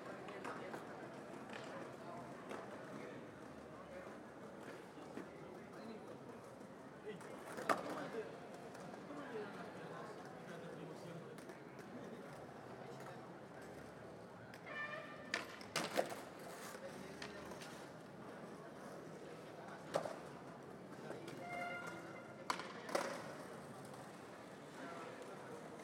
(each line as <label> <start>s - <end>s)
skaters 0.0s - 25.8s